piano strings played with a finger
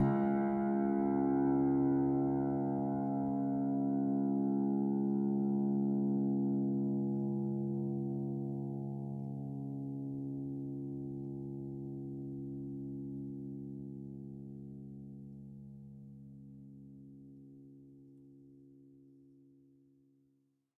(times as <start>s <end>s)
0.0s 3.6s